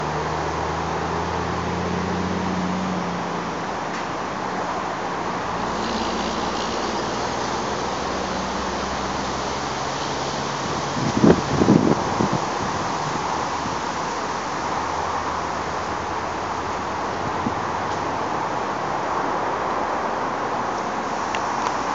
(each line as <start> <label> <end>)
0.0 passing traffic 21.9